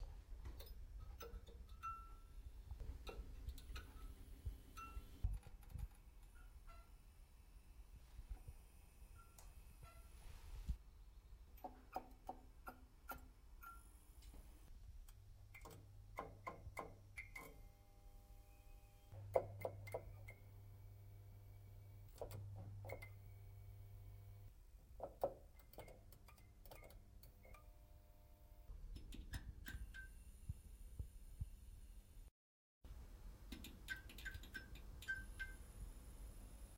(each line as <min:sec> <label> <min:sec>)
0:00.6 ping 0:02.4
0:04.8 ping 0:05.1
0:35.0 ping 0:35.6